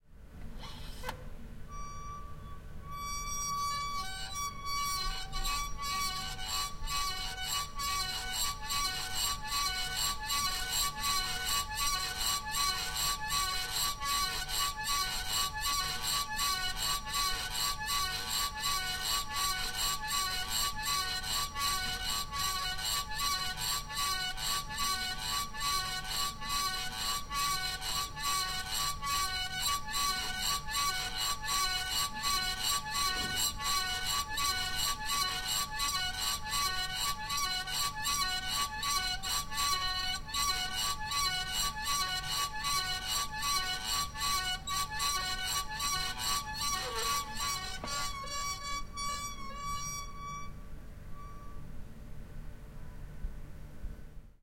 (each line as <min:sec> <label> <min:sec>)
0:00.6 Old plastic ventilator squeaking in a window 0:51.9
0:10.4 old plastic ventilator ist being opened and closed 0:49.7